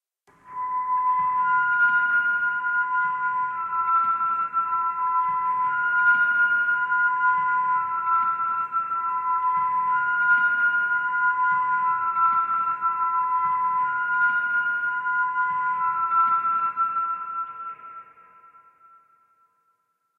0.4s drone 19.2s

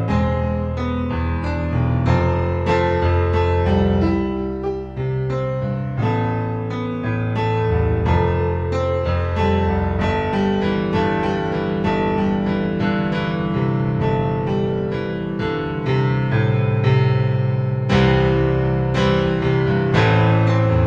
0.0s piano 20.8s

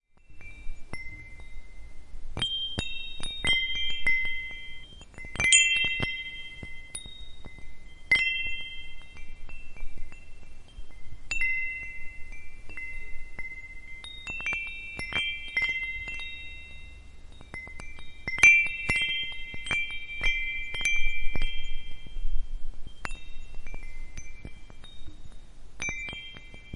0.1s small metal wind-chime 26.7s

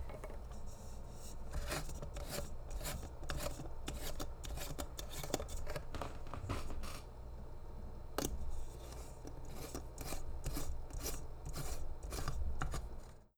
0.0s Unscrewing and screwing a lightbulb 7.1s
8.2s Unscrewing and screwing a lightbulb 13.3s

